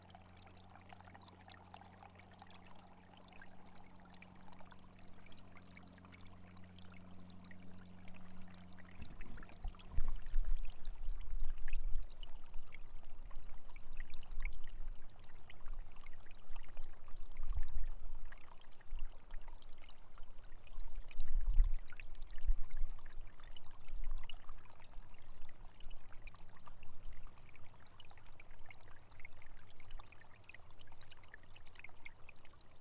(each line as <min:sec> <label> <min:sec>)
0:00.0 small river is flowing carrying spring water 0:32.8